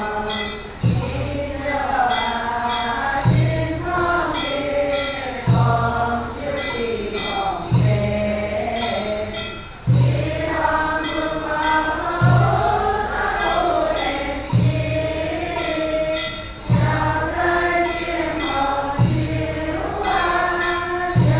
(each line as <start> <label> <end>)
0.0 Chant Buddhist scriptures 21.3